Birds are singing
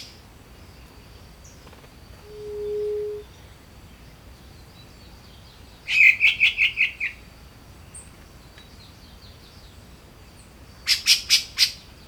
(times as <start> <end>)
7.8 11.0